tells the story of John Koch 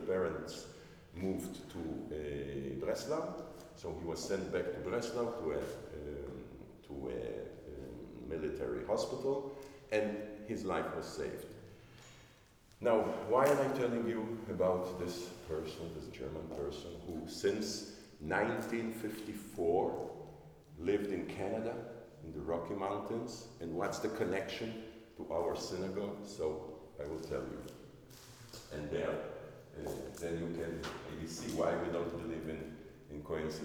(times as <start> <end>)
12.8 27.8, 28.5 33.6